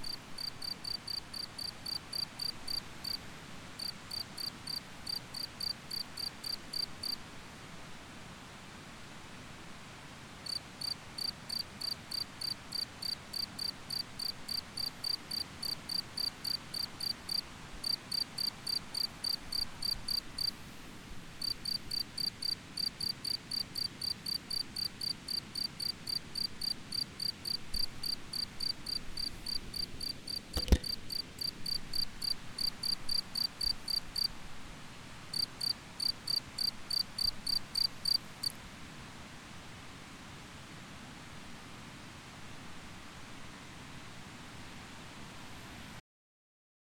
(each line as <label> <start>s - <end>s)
crickets 0.0s - 7.2s
crickets 10.4s - 20.6s
crickets 21.3s - 34.5s
crickets 35.3s - 38.6s